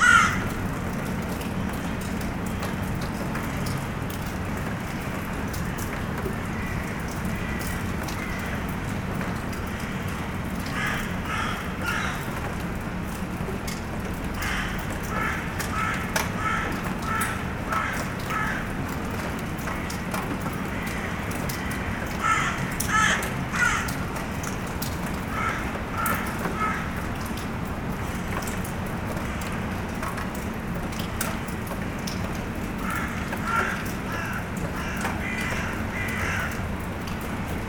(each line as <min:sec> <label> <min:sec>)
0:00.0 Crows are shouting 0:00.5
0:00.0 small rain 0:37.6
0:10.7 Crows are shouting 0:12.3
0:14.4 Crows are shouting 0:18.7
0:20.7 Crows are shouting 0:24.0
0:25.3 Crows are shouting 0:27.1
0:32.8 Crows are shouting 0:36.7